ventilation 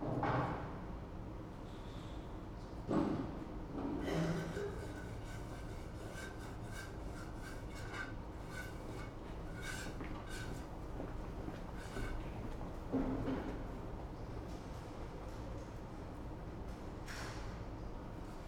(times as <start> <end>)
1.4 14.6